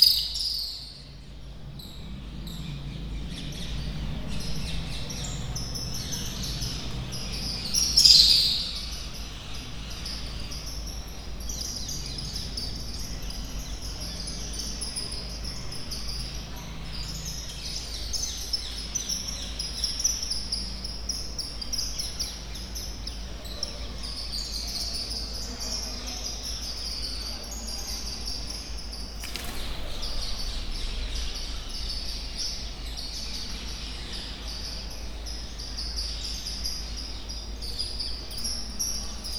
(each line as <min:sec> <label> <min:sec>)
0:29.0 ballet of birds coming in and out 0:33.3